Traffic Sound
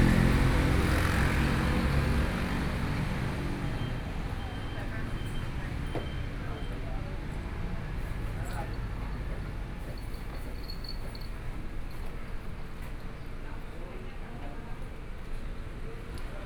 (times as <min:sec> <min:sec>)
0:00.0 0:10.7